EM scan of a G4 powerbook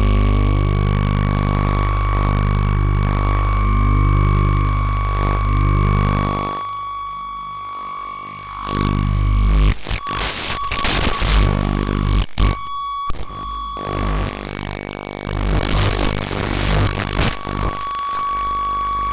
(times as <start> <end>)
9.7 17.9